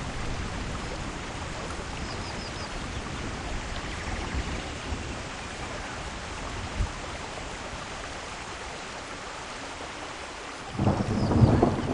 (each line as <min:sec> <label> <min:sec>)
0:10.7 thunder 0:11.9